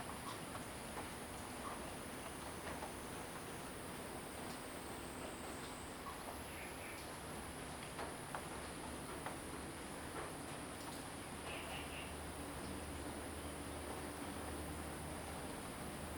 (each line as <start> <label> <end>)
0.0 Rainy Day 16.1